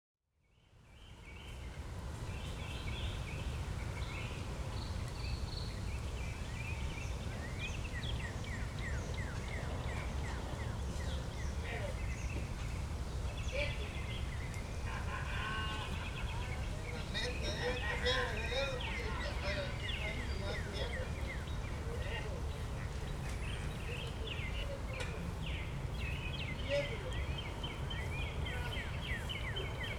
Birds 0.5 - 29.9

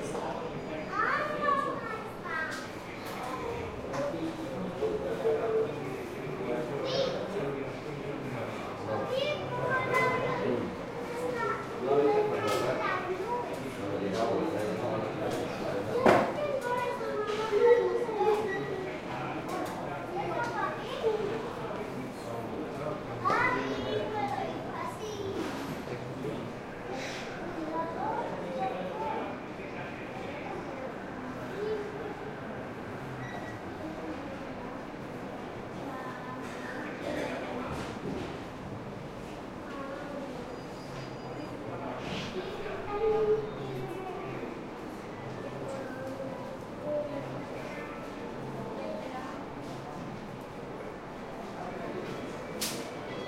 light crowd 0.0 - 53.2

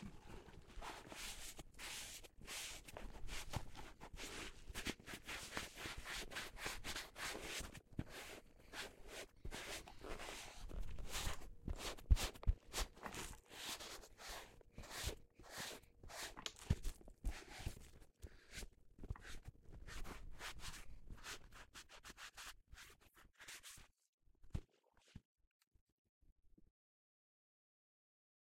polishing leather shoes with sponge and brush 0.4 - 23.9

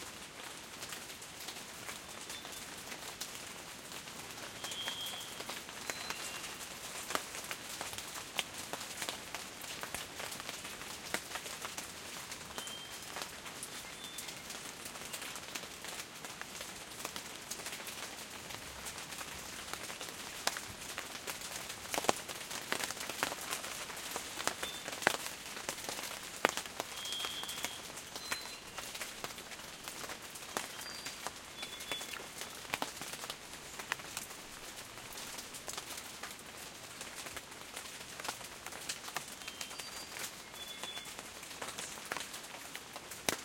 rain 0.0 - 43.4
wind 0.0 - 43.4
birds 26.5 - 29.1

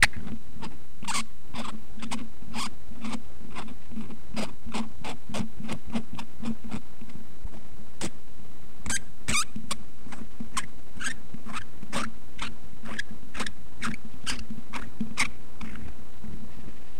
squeaking noise made by unscrewing a cap off of a microphone 8.9 - 15.8

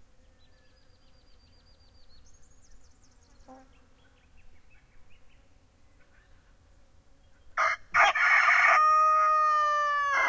rooster 7.6 - 10.2

